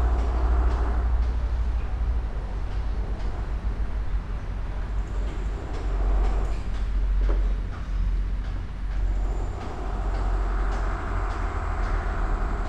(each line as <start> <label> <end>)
0.0 building work 12.6